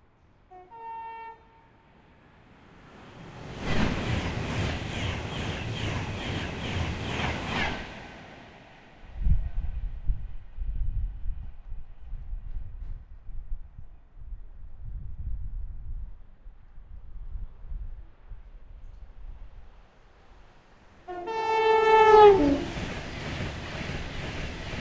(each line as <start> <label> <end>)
0.0 two trains at speed through the station 24.8
0.5 Horns sounded on both 1.7
21.1 Horns sounded on both 22.7